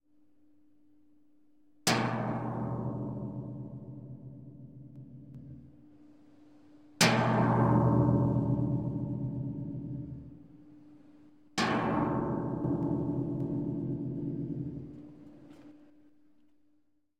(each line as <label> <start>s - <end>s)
Hammering Empty tank large 11.6s - 15.6s